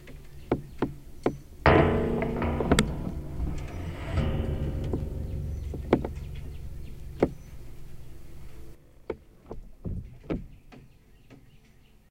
birds 0:00.0 - 0:01.7
birds 0:05.5 - 0:12.1

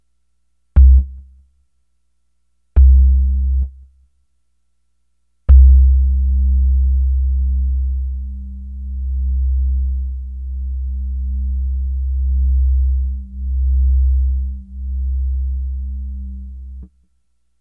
Low analog tones 0:00.8 - 0:01.2
Low analog tones 0:02.8 - 0:03.7
Low analog tones 0:05.5 - 0:16.9

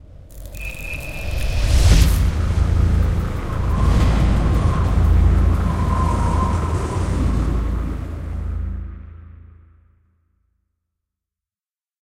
blizzard sound 0:00.0 - 0:10.0
futuristic sounding arp 0:00.3 - 0:09.5

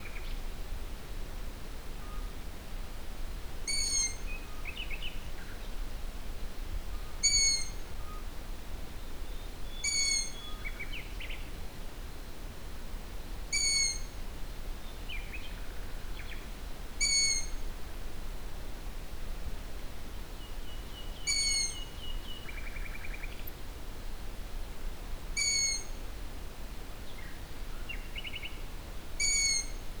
begging calls from a Long-eared Owl 0:03.7 - 0:04.2
nocturnal calls from a Common Moorhen 0:03.7 - 0:04.4
song of a Common Nightingale 0:03.7 - 0:05.8
nocturnal calls from a Common Moorhen 0:07.2 - 0:08.2
begging calls from a Long-eared Owl 0:07.2 - 0:07.8
song of a Common Nightingale 0:09.0 - 0:11.5
nocturnal calls from a Common Moorhen 0:09.7 - 0:10.7
begging calls from a Long-eared Owl 0:09.8 - 0:10.4
begging calls from a Long-eared Owl 0:13.5 - 0:14.2
nocturnal calls from a Common Moorhen 0:13.5 - 0:14.2
song of a Common Nightingale 0:13.5 - 0:14.2
song of a Common Nightingale 0:14.8 - 0:17.6
begging calls from a Long-eared Owl 0:17.0 - 0:17.6
nocturnal calls from a Common Moorhen 0:17.0 - 0:17.6
song of a Common Nightingale 0:20.1 - 0:23.6
nocturnal calls from a Common Moorhen 0:21.2 - 0:21.9
begging calls from a Long-eared Owl 0:21.3 - 0:21.9
begging calls from a Long-eared Owl 0:25.4 - 0:26.0
nocturnal calls from a Common Moorhen 0:25.4 - 0:26.0
song of a Common Nightingale 0:25.4 - 0:26.0
song of a Common Nightingale 0:27.0 - 0:30.0
nocturnal calls from a Common Moorhen 0:29.2 - 0:29.9
begging calls from a Long-eared Owl 0:29.2 - 0:29.8

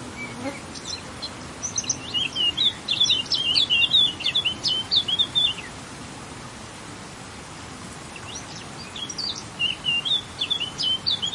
warbler singing 0:00.0 - 0:05.8
noise of running water 0:00.0 - 0:11.3
wind on vegetation 0:00.0 - 0:11.3
warbler singing 0:08.1 - 0:11.3

